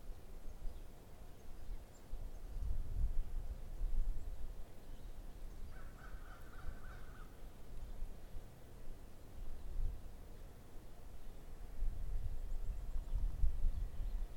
0.0s wind 14.3s
3.5s birds 8.2s
9.1s birds 14.3s

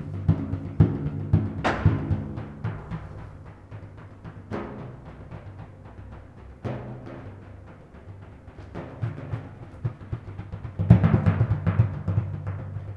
0.0s rumble of a few kettledrums 12.9s

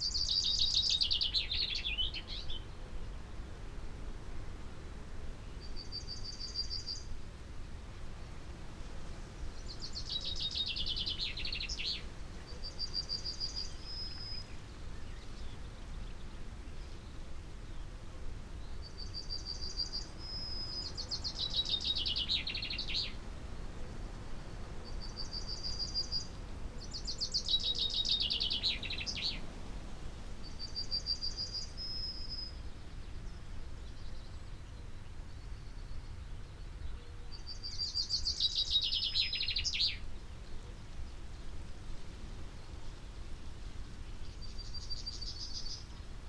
9.2s pheasant 34.4s
35.4s pheasant 46.2s

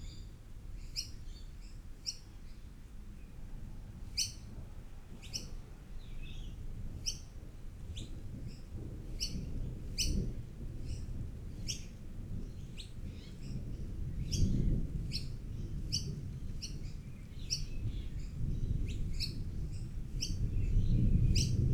8.2s storm brewing 21.7s

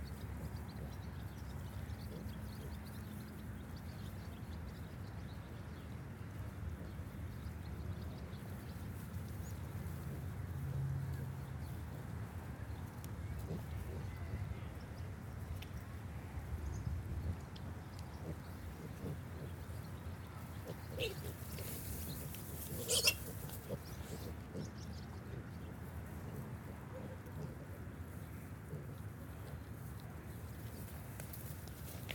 0.0s Berkshire sow and piglets 32.1s
22.5s little squealy noises of the babies 24.3s

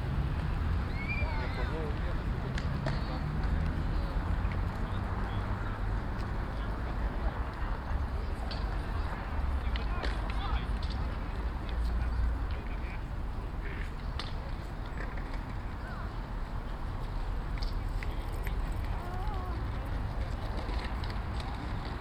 0.0s Distant traffic 22.0s
0.3s skates 22.0s
13.6s skateboard 22.0s

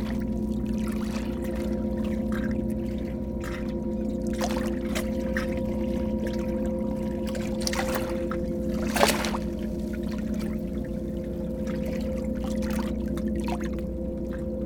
0.0s sea 14.6s

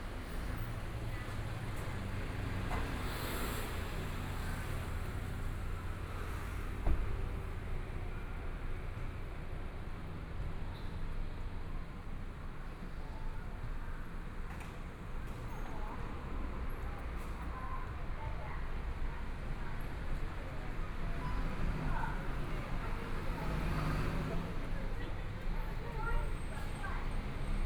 12.4s Various shops voices 27.6s
16.1s Traffic Sound 27.6s

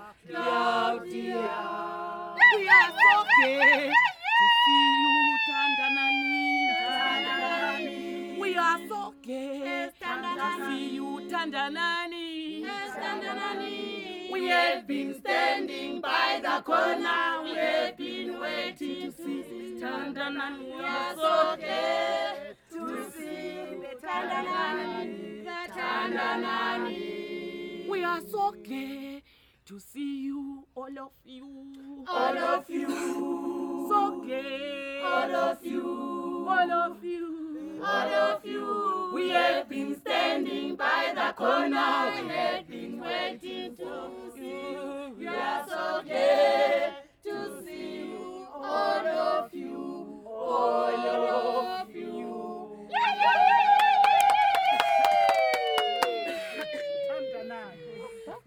1.3s good-bye songs 11.7s

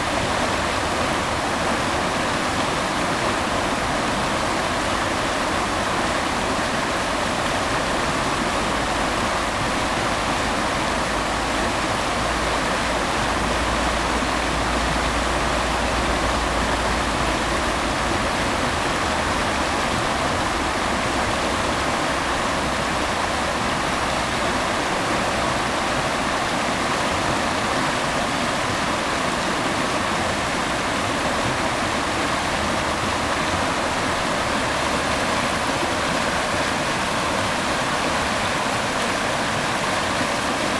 0.0s river 40.7s

